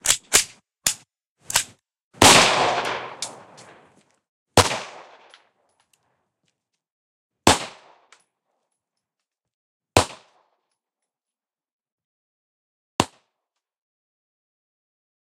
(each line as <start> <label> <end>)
0.0 Handgun Clip Magazine Shot 1.7
0.0 reload 3.9
2.3 Handgun Clip Magazine Shot 3.9